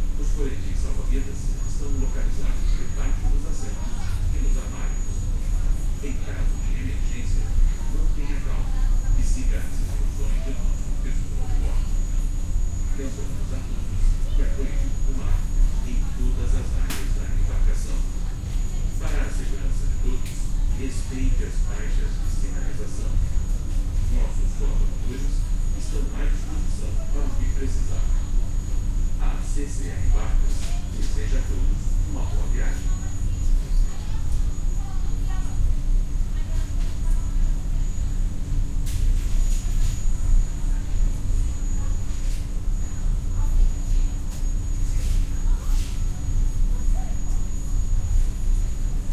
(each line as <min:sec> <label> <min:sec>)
0:00.0 Running engine 0:49.1